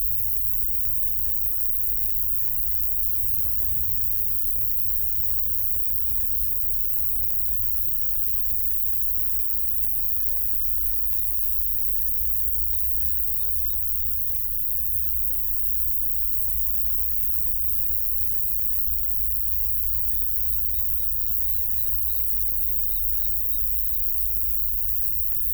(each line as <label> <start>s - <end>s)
intense crickets in high grass 0.0s - 25.5s